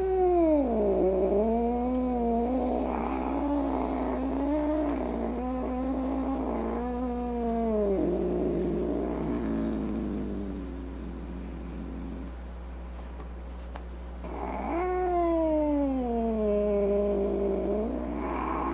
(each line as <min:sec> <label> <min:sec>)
0:00.0 meow 0:05.0
0:00.0 angry cat sounds 0:12.3
0:00.0 growling 0:12.3
0:02.5 snorts 0:10.6
0:14.2 snorts 0:14.9
0:14.2 angry cat sounds 0:18.7
0:14.2 growling 0:18.7
0:14.3 meow 0:18.7
0:17.2 snorts 0:18.7